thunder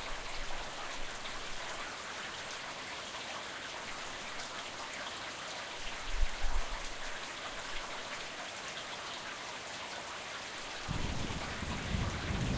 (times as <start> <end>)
10.9 12.5